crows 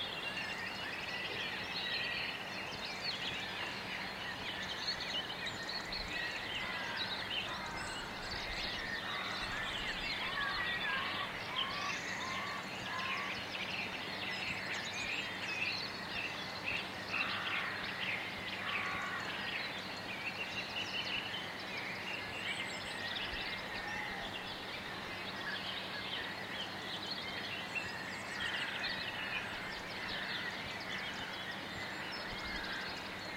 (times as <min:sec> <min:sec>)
0:06.6 0:13.4, 0:17.1 0:17.9, 0:18.6 0:19.4, 0:23.7 0:24.3, 0:28.4 0:30.6, 0:32.2 0:33.3